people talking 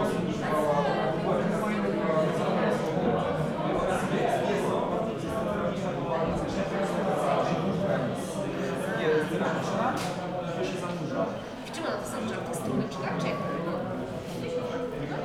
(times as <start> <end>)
11.8 15.2